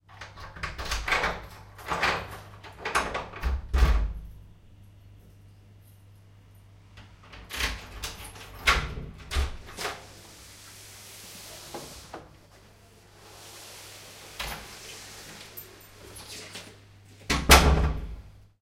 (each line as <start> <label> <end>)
0.1 Door opening and closing with keys 4.3
5.2 Door opening and closing with keys 10.4
13.3 Door opening and closing with keys 18.2